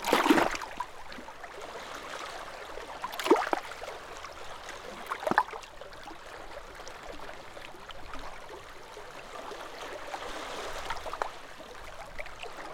Sea lapping against rocks on coastline 0:00.0 - 0:01.2
Sea lapping against rocks on coastline 0:03.0 - 0:04.0

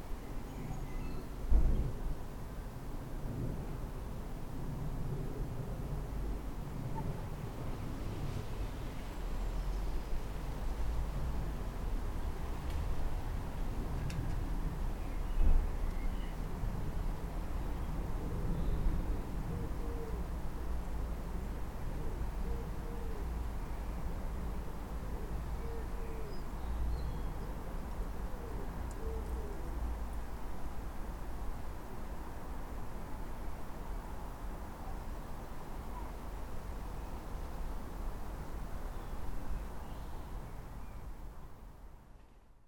Robins 0:17.6 - 0:20.7
Robins 0:21.8 - 0:24.2
Robins 0:24.9 - 0:30.2
Robins 0:34.6 - 0:37.6

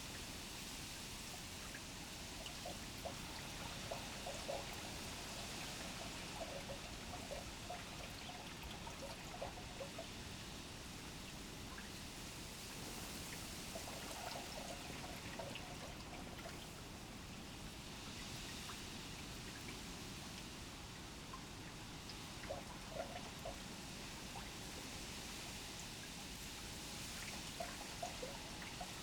canal drain 0:01.8 - 0:10.1
canal drain 0:12.8 - 0:17.0
canal drain 0:22.4 - 0:23.6

